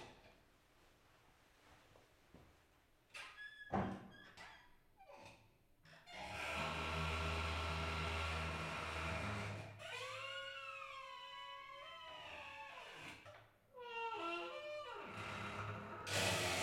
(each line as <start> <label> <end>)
6.0 creeking doors of a sculpture 16.6